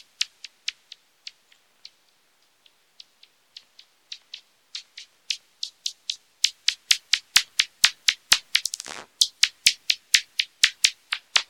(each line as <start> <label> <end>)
8.5 bats echolocating 9.1